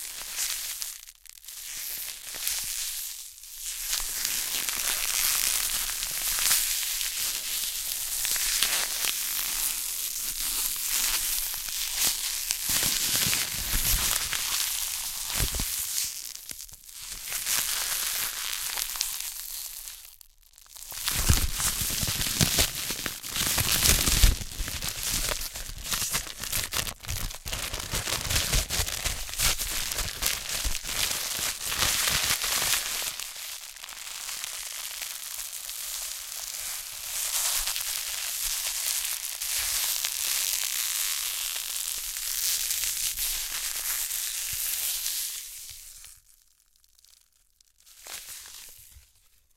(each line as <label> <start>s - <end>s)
Cellophane manipulated 8.3s - 42.2s
Cellophane manipulated 43.1s - 49.4s